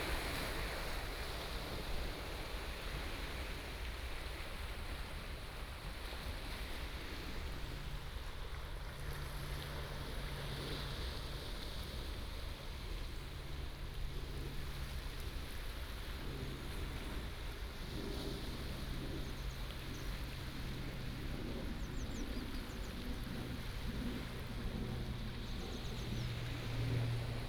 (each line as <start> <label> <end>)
0.0 waves 27.4